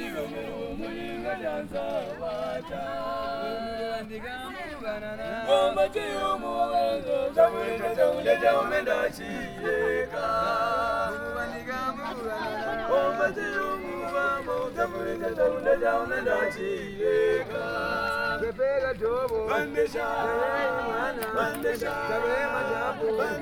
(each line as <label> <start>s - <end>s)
Voices singing in the dark 0.0s - 23.4s